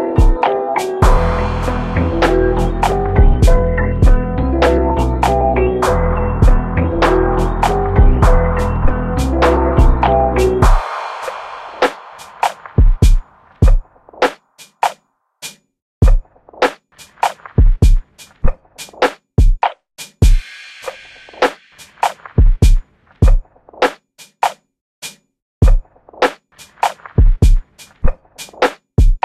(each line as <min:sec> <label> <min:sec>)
0:00.0 Dark Melody 0:13.2